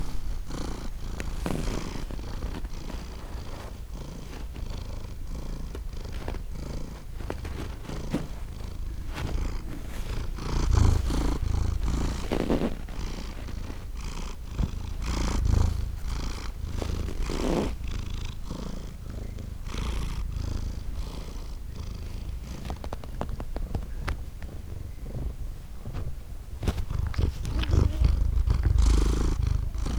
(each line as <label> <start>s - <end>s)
her paws dig in the couch 0.0s - 29.9s
purring 0.0s - 29.9s